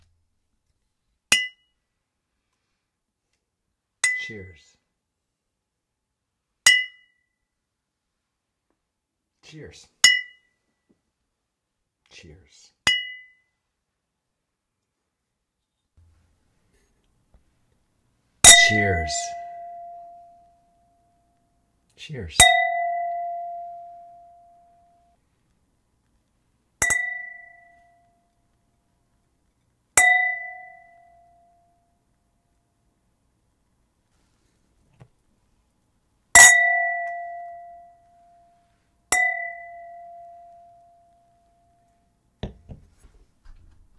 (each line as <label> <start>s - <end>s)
male voice 4.2s - 4.8s
male voice 9.4s - 10.0s
male voice 12.1s - 12.8s
male voice 18.6s - 19.5s
male voice 22.0s - 22.4s